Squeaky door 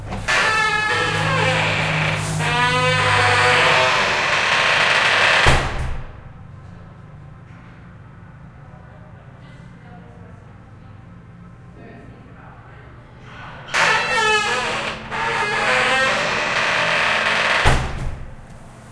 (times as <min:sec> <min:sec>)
0:00.1 0:05.8, 0:13.3 0:18.1